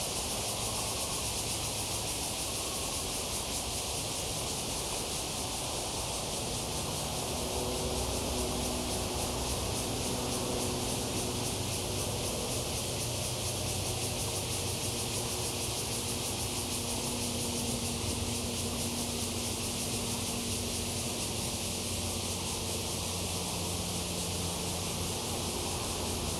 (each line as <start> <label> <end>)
0.0 Cicadas cry 26.3
5.7 Traffic Sound 26.3